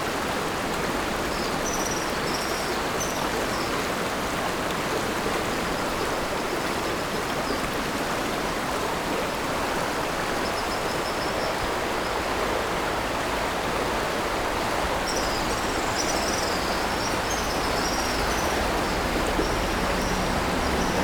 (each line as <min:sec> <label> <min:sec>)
0:00.0 Stream after Typhoon 0:21.0
0:14.8 Traffic Sound 0:21.0